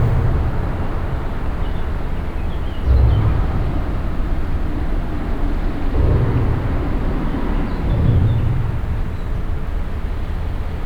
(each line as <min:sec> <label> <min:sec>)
0:00.0 cars crossing the bridge and resonating in the big metall architecture 0:10.8